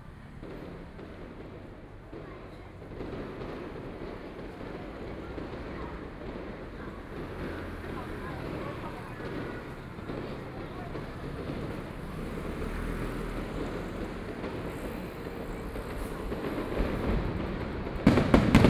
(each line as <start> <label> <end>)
0.0 Traffic Sound 18.6
0.3 Fireworks sound 18.6